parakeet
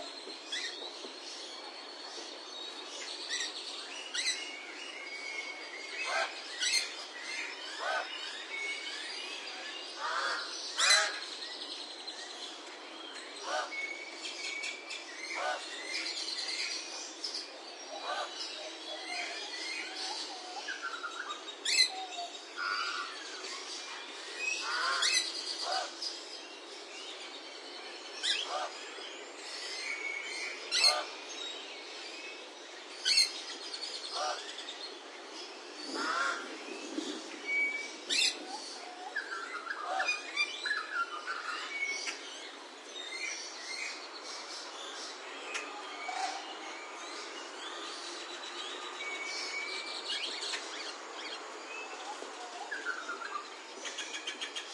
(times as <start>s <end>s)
6.0s 7.0s